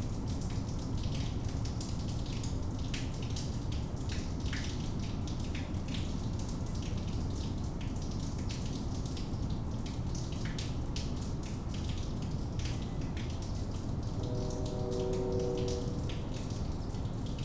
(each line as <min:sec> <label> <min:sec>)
0:00.0 storm drain in the neighborhood dripping 0:17.4
0:14.0 train comes by 0:17.2